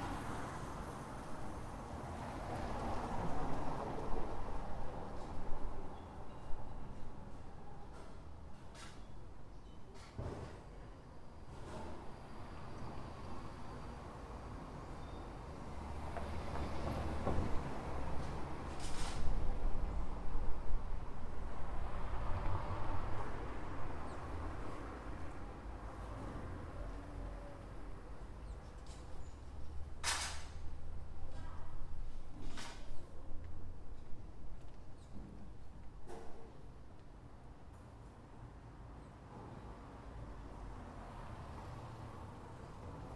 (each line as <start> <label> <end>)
0.0 busy avenue 43.1